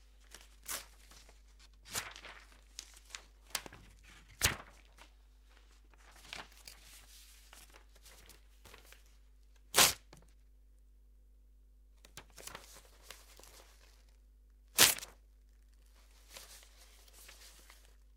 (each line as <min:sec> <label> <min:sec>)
0:14.8 pieces of paper being torn 0:15.2